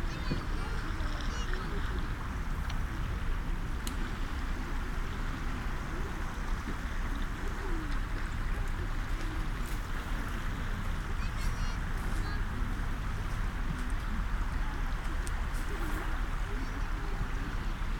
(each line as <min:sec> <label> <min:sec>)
0:00.0 people swim 0:17.9
0:00.0 sea 0:17.9